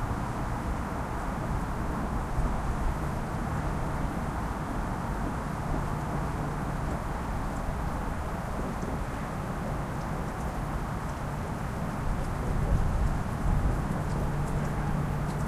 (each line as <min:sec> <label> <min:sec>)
0:00.0 other suburban sounds 0:15.4